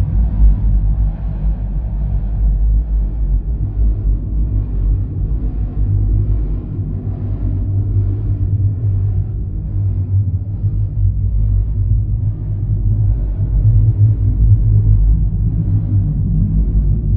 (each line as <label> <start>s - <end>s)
drone 0.0s - 17.1s